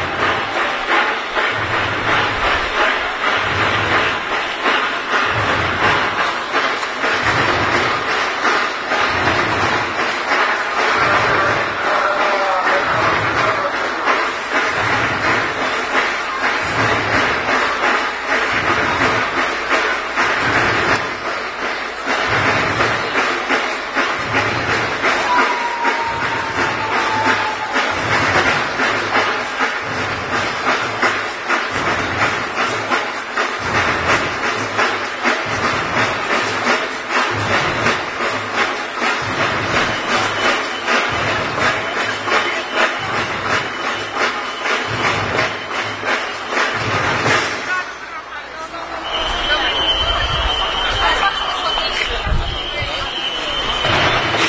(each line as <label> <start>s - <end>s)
crowd 0.0s - 54.4s